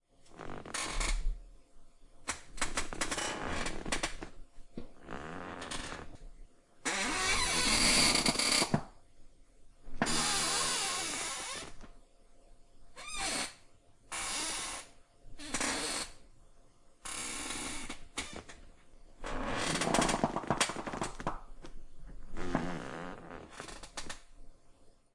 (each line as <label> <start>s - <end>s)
Squeaking Office Chair 0.3s - 1.2s
Squeaking Office Chair 2.6s - 4.3s
Squeaking Office Chair 5.0s - 6.2s
Squeaking Office Chair 6.9s - 8.9s
Squeaking Office Chair 10.0s - 11.8s
Squeaking Office Chair 13.0s - 16.2s
Squeaking Office Chair 17.1s - 18.6s
Squeaking Office Chair 19.2s - 21.2s
Squeaking Office Chair 22.3s - 24.2s